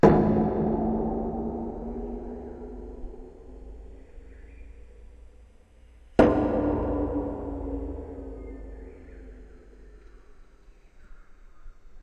hits on a nearly empty 250 gallon propane tank 0:00.0 - 0:04.0
hits on a nearly empty 250 gallon propane tank 0:06.1 - 0:09.6

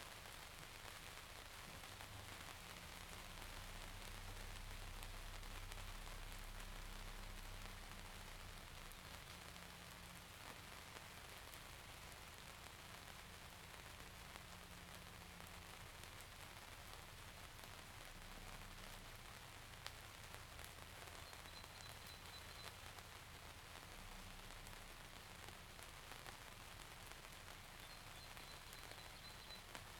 rain 0:00.0 - 0:29.9

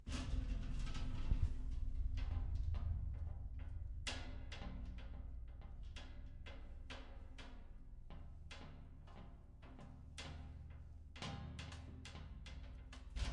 Subtle metal rattles and knocks 0:00.0 - 0:13.3

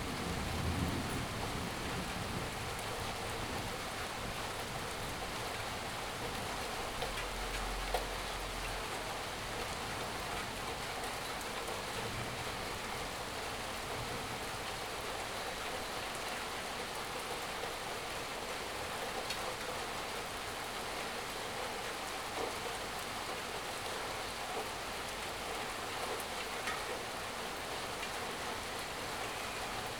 rain falling on the shed 0:00.0 - 0:29.9
thunder 0:00.0 - 0:02.6

